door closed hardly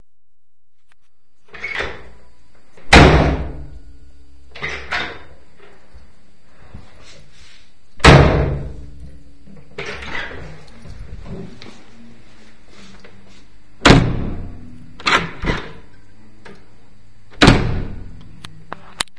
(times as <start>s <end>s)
2.8s 3.7s, 8.0s 8.9s, 13.8s 15.9s, 17.3s 18.2s